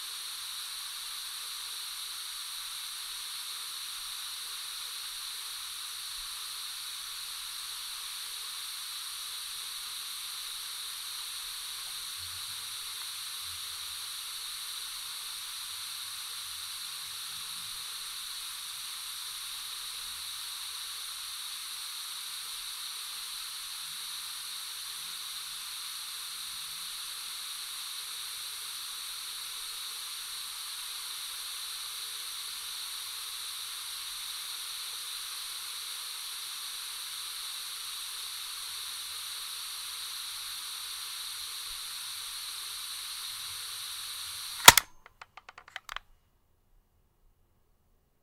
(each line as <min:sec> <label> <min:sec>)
0:00.0 Hiss 0:45.0
0:44.6 fast forward-rewind buttons pressed 0:46.0
0:44.6 cassette recorder being handled 0:46.0